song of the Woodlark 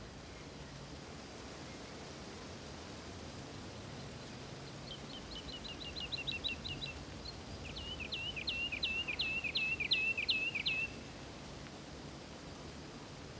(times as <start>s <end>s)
4.8s 11.1s